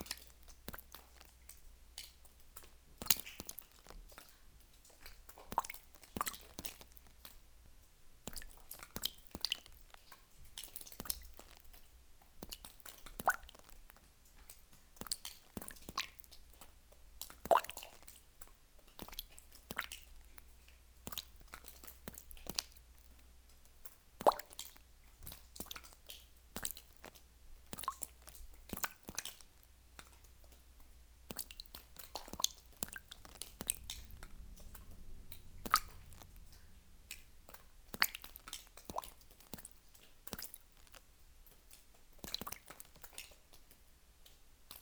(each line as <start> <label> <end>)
0.0 small sizzle sound when water reflux into calcite concretion 44.8